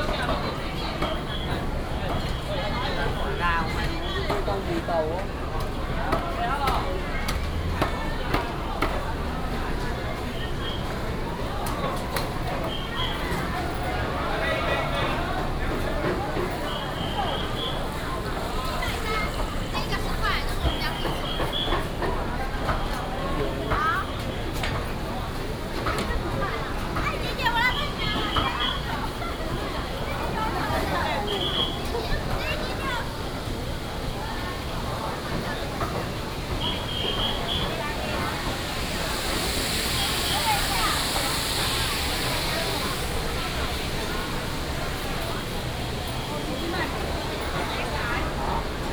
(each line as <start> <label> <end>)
0.0 traffic sound 48.9
12.2 whistle of traffic 14.4
16.4 whistle of traffic 24.3
27.4 whistle of traffic 48.6